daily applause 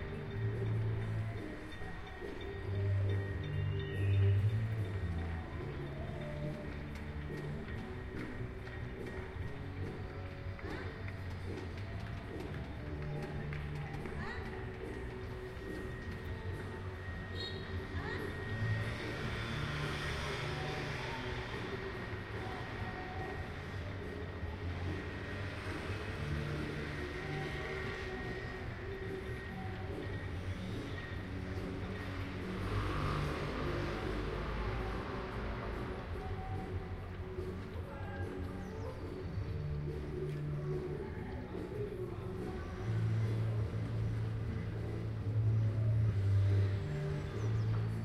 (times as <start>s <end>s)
5.0s 16.4s